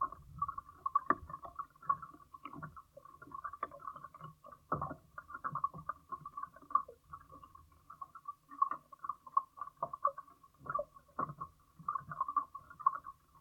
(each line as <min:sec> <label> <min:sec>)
0:00.0 rubber pad lining side of floating dock 0:13.4